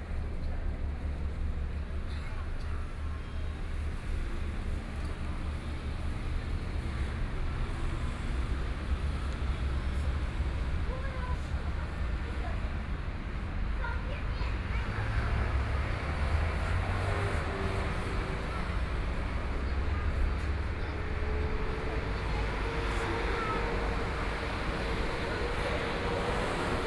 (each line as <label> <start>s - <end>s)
Traffic Sound 0.0s - 26.8s
Tourists 9.3s - 26.8s